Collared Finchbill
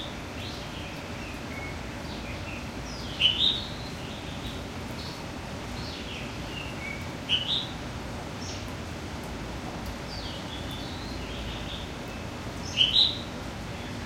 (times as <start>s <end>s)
2.9s 3.7s, 12.6s 13.2s